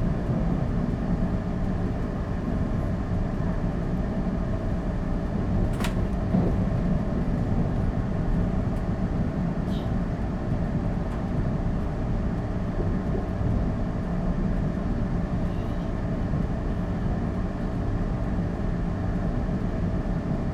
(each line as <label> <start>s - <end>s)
train carriage 0.0s - 20.3s